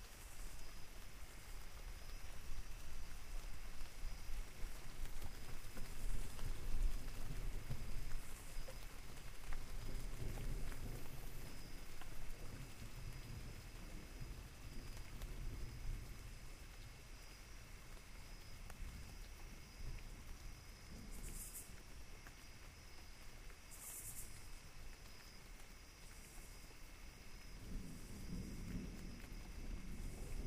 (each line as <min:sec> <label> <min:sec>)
0:00.0 rain 0:30.4
0:09.7 thunder 0:16.4
0:27.4 thunder 0:30.4